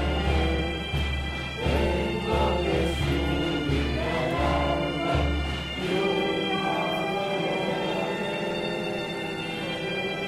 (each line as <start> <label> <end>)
0.0 Public singing 10.2